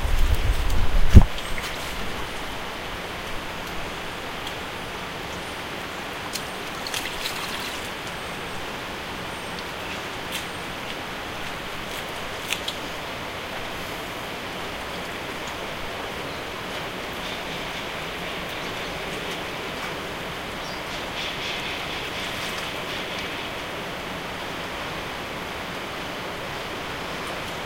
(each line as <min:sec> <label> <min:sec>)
0:00.0 mic wind 0:06.3
0:00.0 water 0:27.6